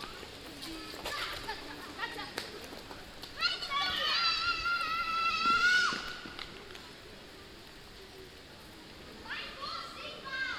Kids playing 0:00.0 - 0:06.4
leaves of the plane trees 0:00.0 - 0:10.5

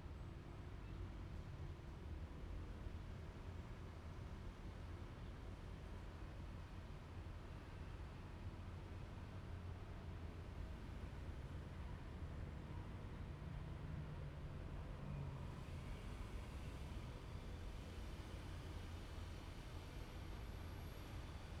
The train runs through 0:12.2 - 0:21.6

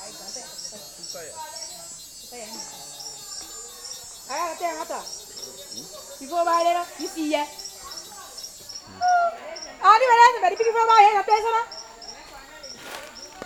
women walking to their fields 0:11.8 - 0:13.4

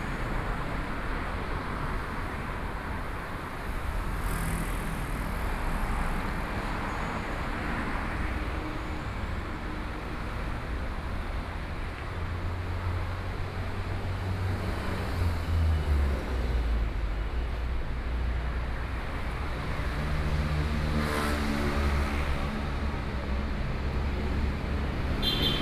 Traffic Sound 0:00.0 - 0:25.6
Walking through the streets 0:00.0 - 0:25.6

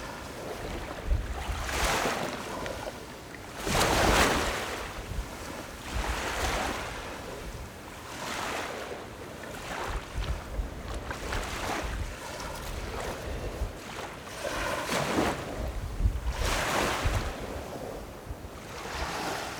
Wave and tidal 0:16.3 - 0:19.5

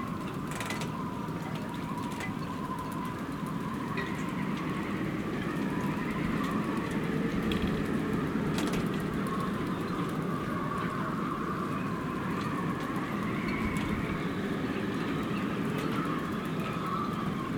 strong wind 0:02.3 - 0:17.5

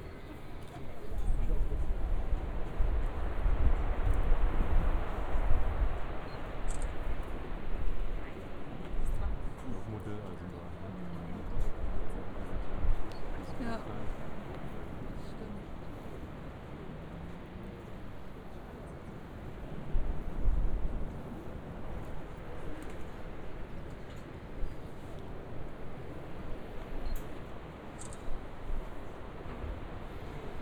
tourists admiring the view and taking pictures 0:00.0 - 0:30.6

